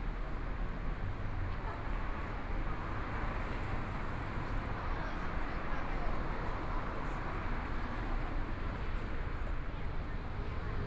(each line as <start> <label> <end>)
0.0 Pedestrians on the road 10.8